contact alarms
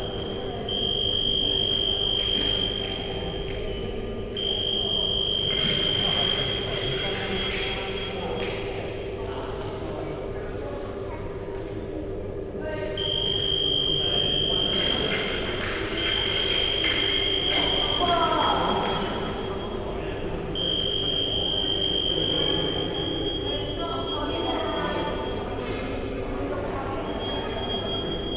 0.0 3.7, 4.3 8.6, 13.0 15.4, 16.0 25.6, 27.0 28.3

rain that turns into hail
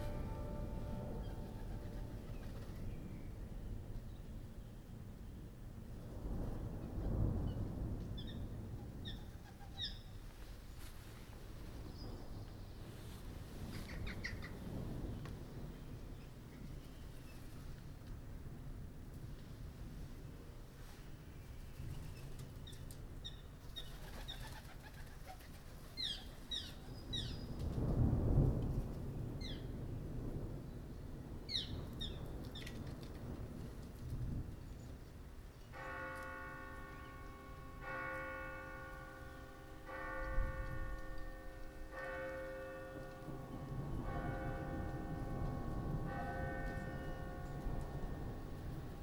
11.3 20.0, 26.9 36.8

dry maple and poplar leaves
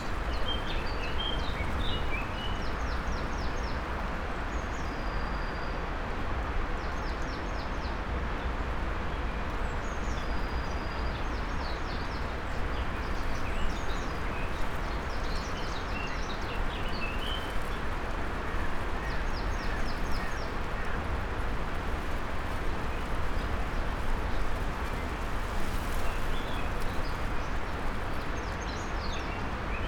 0.0 3.8, 11.8 29.8

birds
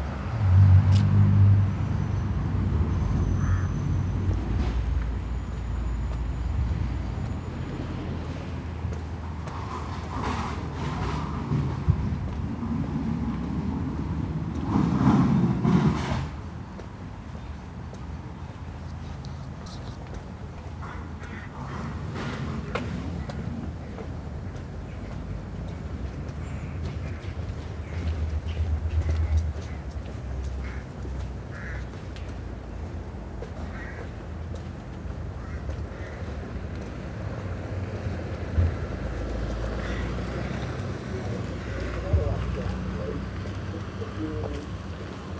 1.9 8.1, 16.8 36.9, 39.5 45.3

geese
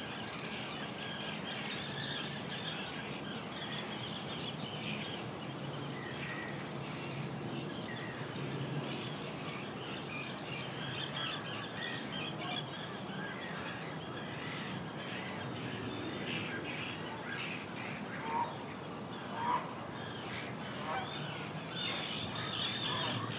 11.0 23.3

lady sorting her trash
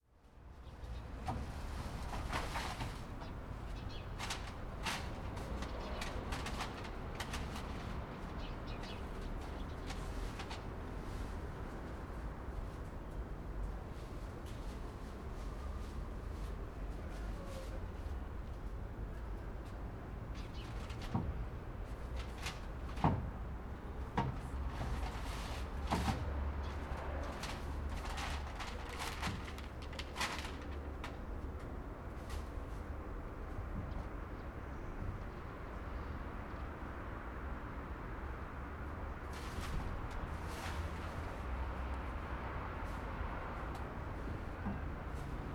24.1 31.2

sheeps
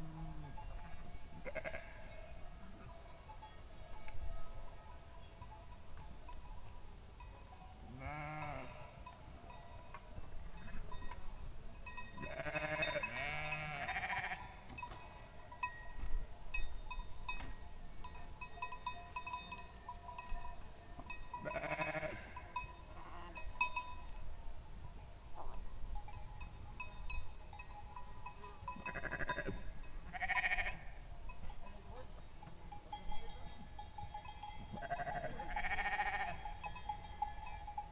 0.0 6.1, 12.1 16.0, 19.7 24.4, 28.4 31.6, 34.6 37.9

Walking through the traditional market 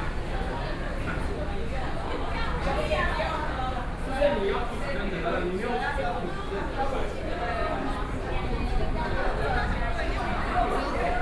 4.6 11.2

